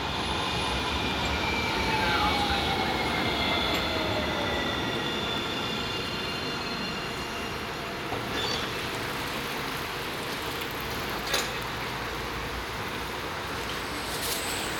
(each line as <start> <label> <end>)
0.0 trams 14.7